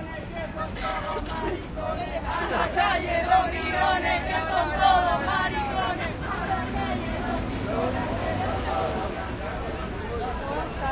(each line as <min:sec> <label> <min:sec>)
0:00.0 crowd 0:10.9
0:00.8 maracas 0:10.9